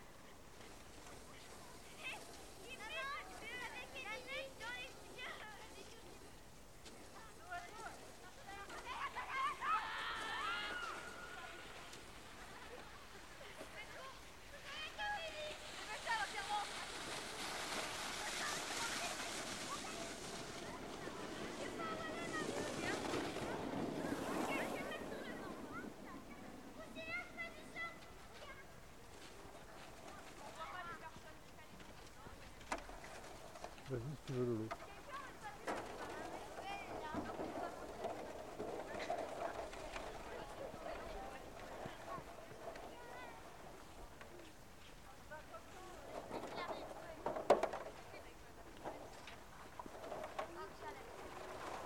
children playing and sledging 0:00.0 - 0:51.8

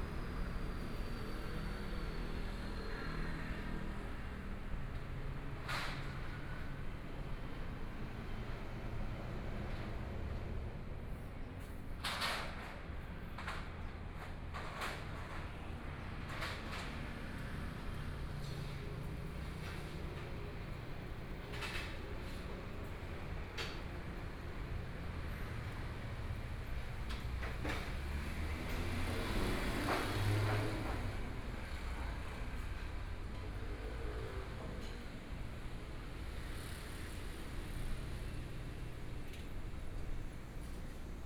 walking In the Street 0:00.0 - 0:41.2
Traffic Sound 0:12.6 - 0:41.2

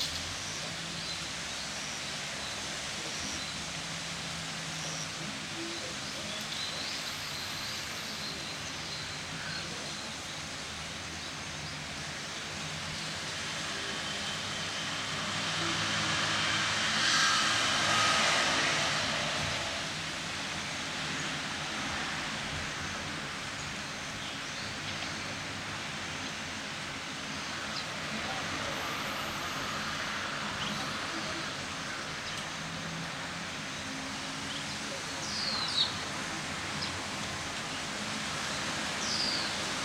cars 0:00.0 - 0:39.8
wind 0:00.0 - 0:39.8
birds 0:33.8 - 0:39.8

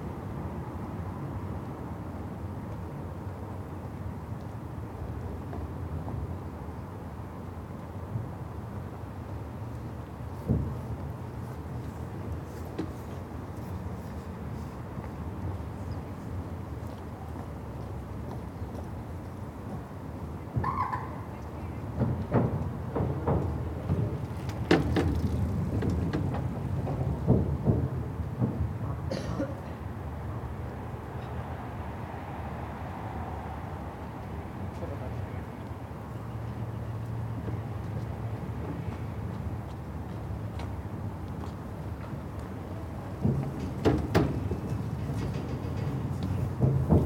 rumble of traffic from the ring road 0:00.0 - 0:47.0
bikes and walkers sounding the bridge 0:00.0 - 0:47.0
different bicycles, shoes and voices 0:10.5 - 0:27.7
different bicycles, shoes and voices 0:34.2 - 0:47.0

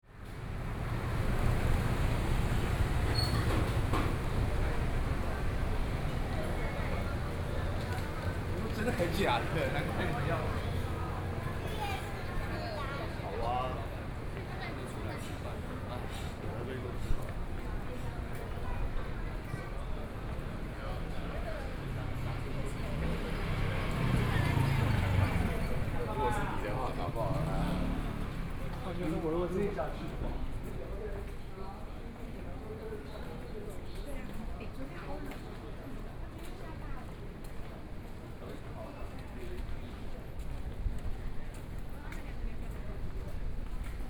people walking in the road 0:00.0 - 0:44.0
Traffic Sound 0:00.1 - 0:33.0
Various shops sound 0:00.1 - 0:33.6

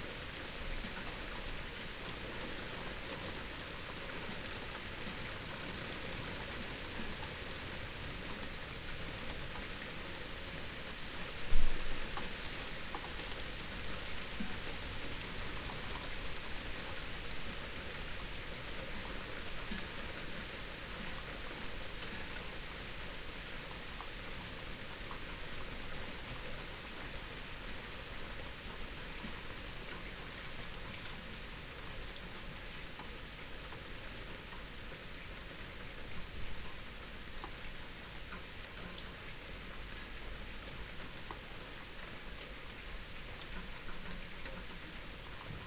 summer rain 0:00.0 - 0:45.6

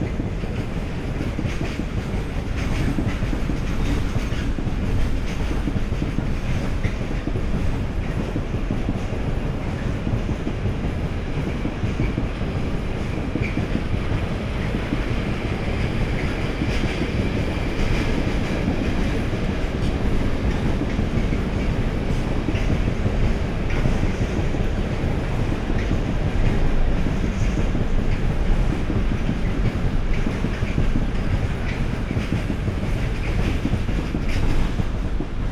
busy train traffic 0:00.0 - 0:35.5

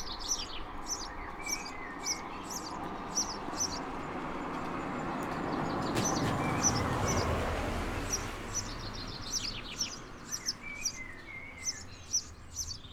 house sparrow 0:00.0 - 0:12.9

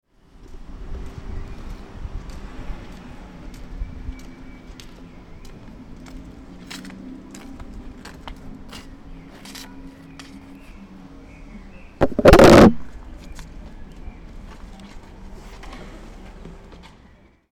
kicks against recording device 0:12.0 - 0:12.9

